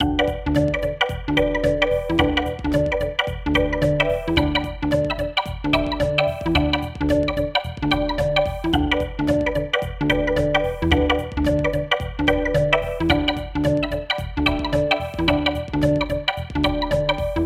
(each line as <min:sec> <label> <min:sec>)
0:00.0 beat 0:17.4